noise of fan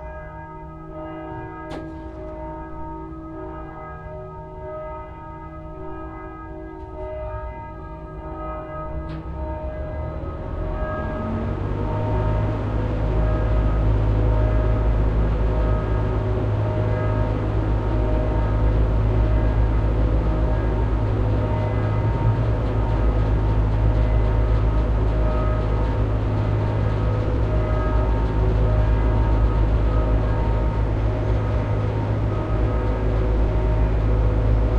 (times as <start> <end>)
13.8 34.7